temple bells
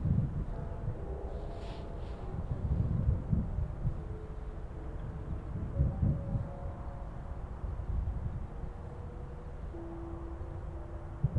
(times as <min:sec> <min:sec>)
0:00.1 0:07.3